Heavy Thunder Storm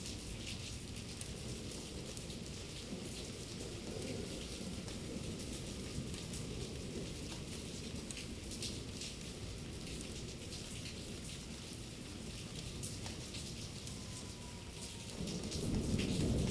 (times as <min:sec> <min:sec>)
0:15.1 0:16.5